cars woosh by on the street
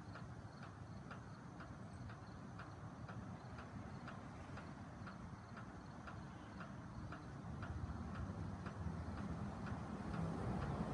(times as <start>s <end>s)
5.9s 10.9s